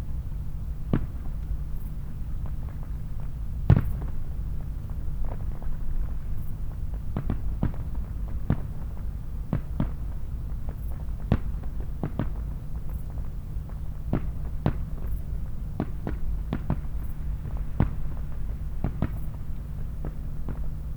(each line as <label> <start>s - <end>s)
distant fireworks display echoes across the shallow valley 0.0s - 20.9s